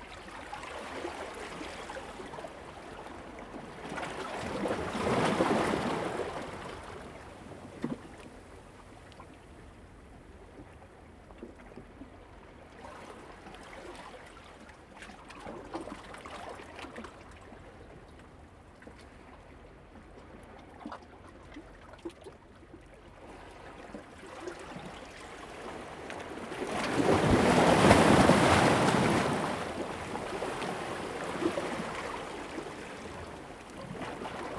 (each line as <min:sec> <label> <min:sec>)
0:26.2 Rocks and waves 0:34.5